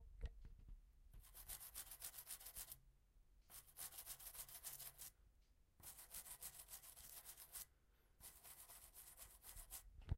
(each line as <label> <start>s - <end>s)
toothbrush 1.2s - 2.8s
toothbrush 3.5s - 5.2s
toothbrush 5.8s - 9.9s